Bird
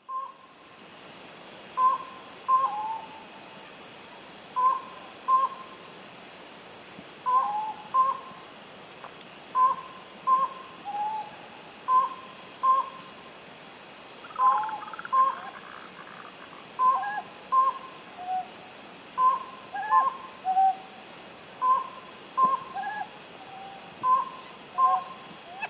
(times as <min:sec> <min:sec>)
0:09.6 0:13.1, 0:14.2 0:18.6, 0:19.2 0:20.8, 0:21.6 0:25.6